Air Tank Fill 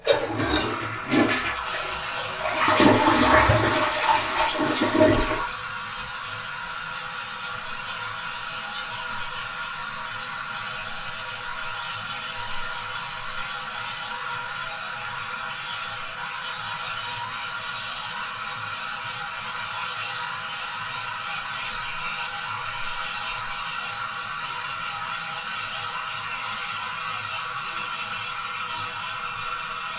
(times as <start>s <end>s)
0.0s 5.5s